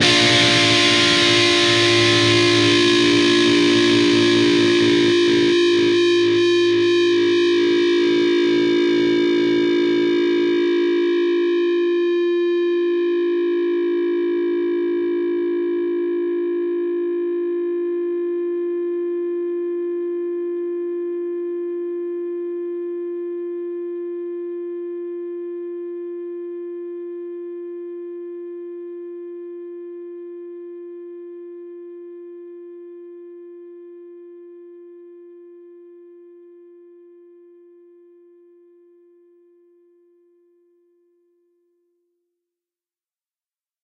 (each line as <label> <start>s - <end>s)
distorted guitar 0.0s - 16.2s